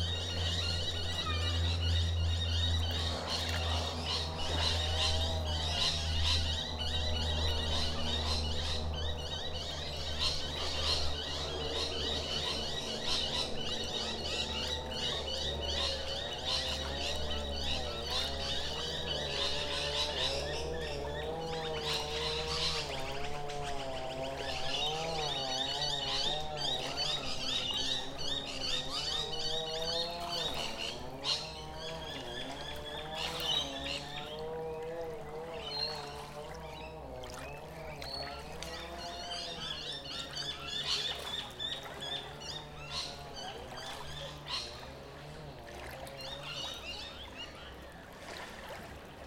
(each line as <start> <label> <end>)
0.0 Noisy Miners call in the surrounding trees 48.1
0.0 Waves softly lap 49.2
0.0 motorboats rush across the water 49.2
15.9 people trim their lawns 28.6
29.2 people trim their lawns 37.2